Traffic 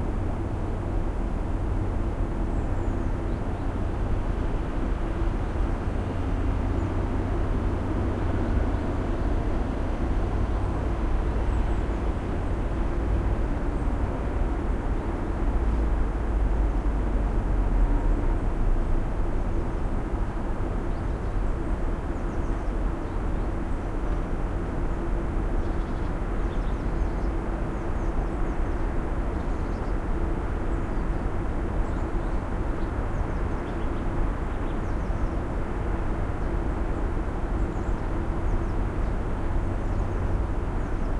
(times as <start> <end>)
0.0 29.4